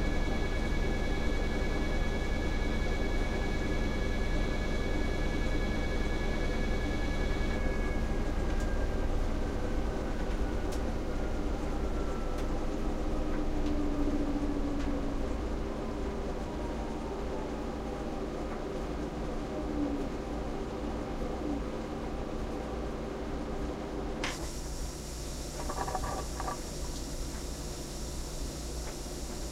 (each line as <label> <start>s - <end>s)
machine 24.2s - 29.5s